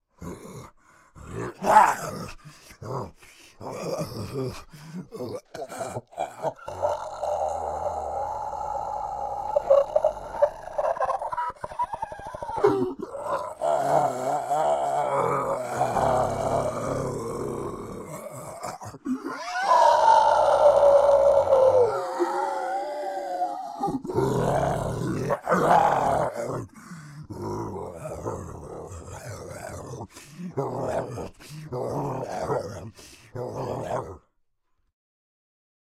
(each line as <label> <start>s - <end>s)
roar 0.2s - 2.4s
Zombie Monster growl 0.2s - 2.4s
Zombie Monster growl 3.6s - 34.3s
roar 5.1s - 11.4s
scream 6.5s - 26.5s
roar 12.1s - 34.3s